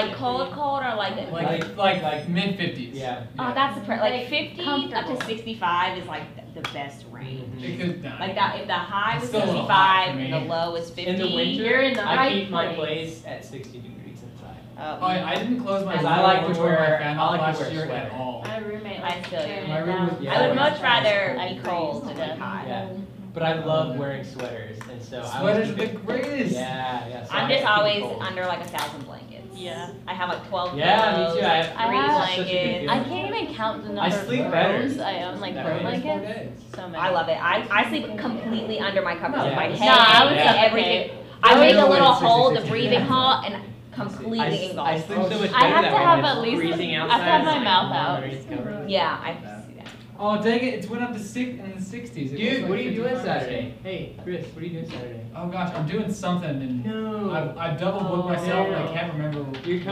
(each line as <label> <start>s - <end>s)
students chatting 0.0s - 13.5s
students chatting 14.4s - 54.6s
students chatting 57.3s - 59.9s